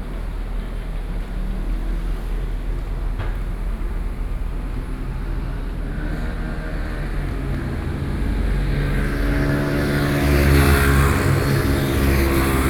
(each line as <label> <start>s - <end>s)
noise street 0.0s - 12.6s